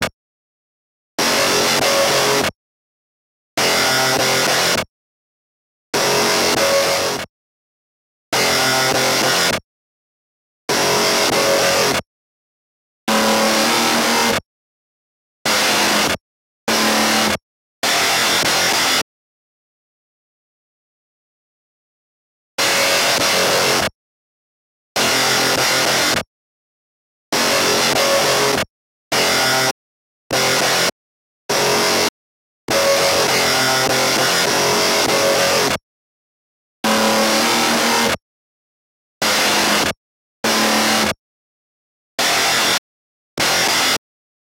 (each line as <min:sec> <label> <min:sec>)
0:01.2 distorted guitar 0:02.5
0:06.0 distorted guitar 0:07.2
0:08.4 distorted guitar 0:09.6
0:10.7 distorted guitar 0:12.0
0:13.1 distorted guitar 0:14.4
0:15.5 distorted guitar 0:19.0
0:22.6 distorted guitar 0:23.9
0:25.0 distorted guitar 0:26.2
0:27.4 distorted guitar 0:32.1
0:32.7 distorted guitar 0:35.7
0:36.8 distorted guitar 0:38.2
0:39.2 distorted guitar 0:41.2
0:42.2 distorted guitar 0:42.8
0:43.4 distorted guitar 0:44.0